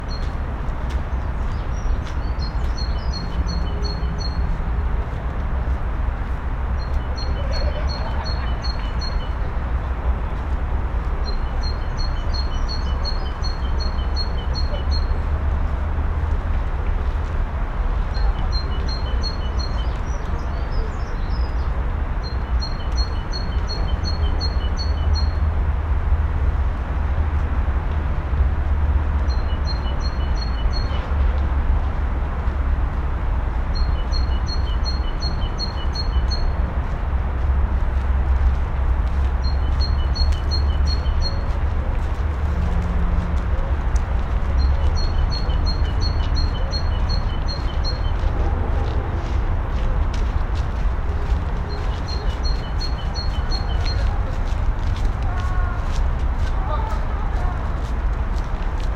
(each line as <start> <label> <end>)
39.1 Birds 42.8
43.4 Birds 57.8